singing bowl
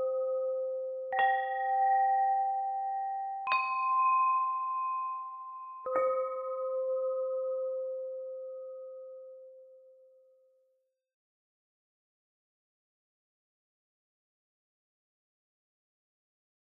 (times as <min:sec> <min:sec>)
0:00.0 0:10.4